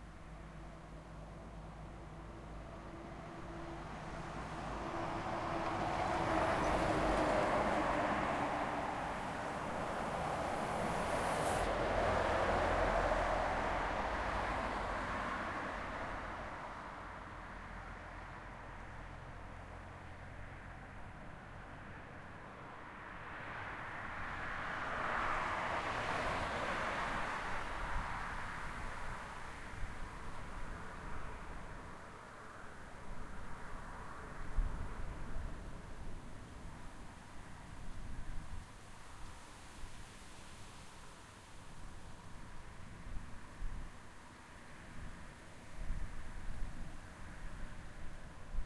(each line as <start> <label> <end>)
0.0 traffic 48.6
0.0 truck 48.6